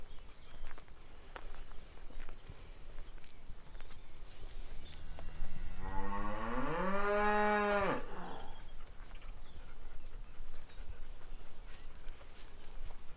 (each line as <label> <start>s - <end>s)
Cow moo 5.6s - 8.5s